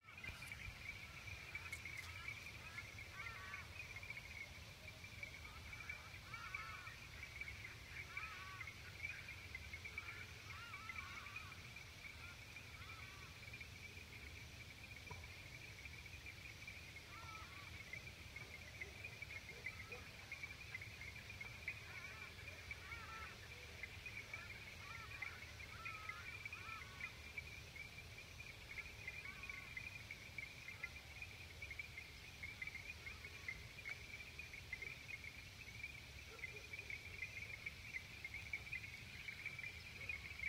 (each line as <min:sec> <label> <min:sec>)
0:00.0 Birds 0:40.4
0:00.0 Frogs 0:40.4